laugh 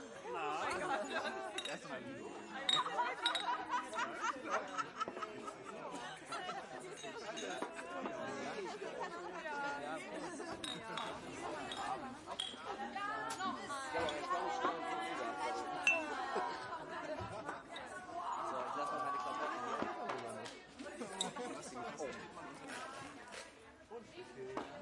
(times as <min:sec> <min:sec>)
0:02.8 0:07.0